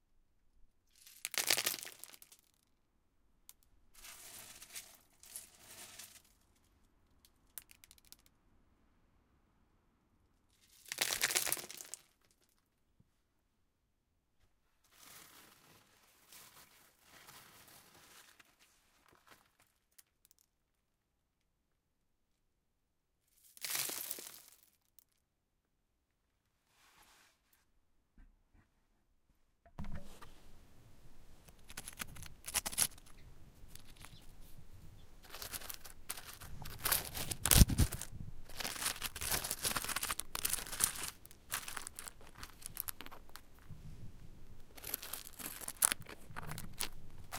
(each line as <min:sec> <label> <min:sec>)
0:31.4 Stones hit, rolled and scratched 0:43.7
0:44.4 Stones hit, rolled and scratched 0:47.3